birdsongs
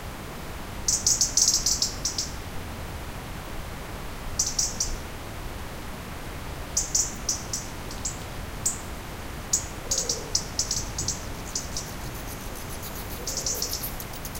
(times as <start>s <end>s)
9.5s 14.3s